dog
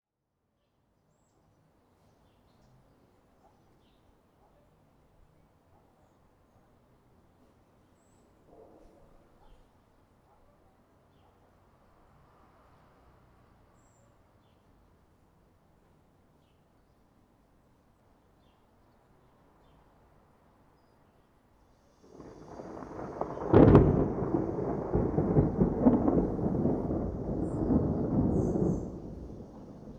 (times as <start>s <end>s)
3.4s 3.8s, 4.4s 4.8s, 5.7s 6.1s, 8.5s 11.5s